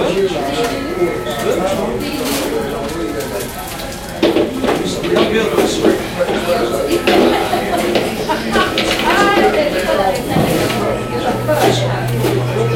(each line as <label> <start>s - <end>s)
walla 0.0s - 12.7s